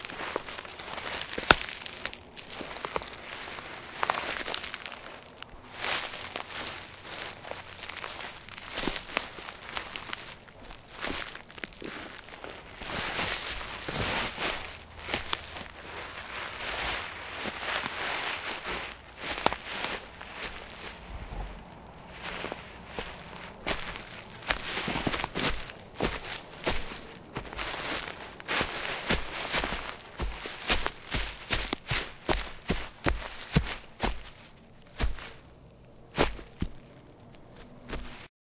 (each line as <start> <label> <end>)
0.0 Footsteps on leaves 38.3